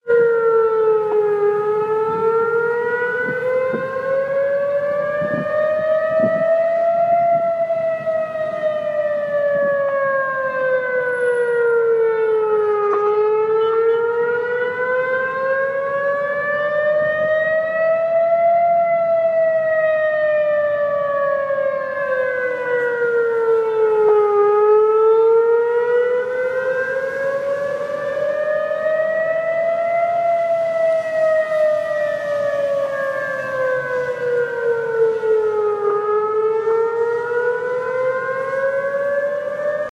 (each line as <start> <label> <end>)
0.0 Emergency siren 39.9